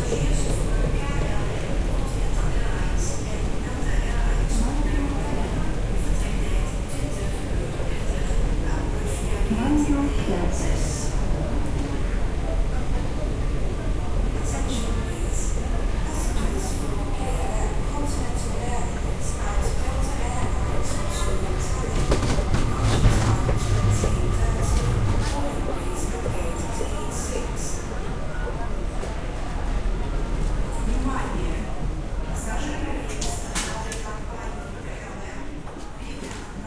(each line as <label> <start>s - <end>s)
speaker 0.0s - 11.5s
crowd 0.0s - 36.6s
speaker 13.9s - 27.9s